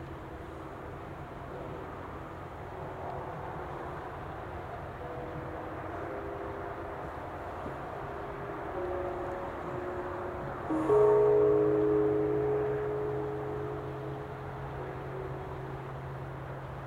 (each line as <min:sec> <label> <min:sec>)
0:00.0 traffic 0:16.8
0:00.0 trains 0:16.8
0:08.7 temple bells 0:16.8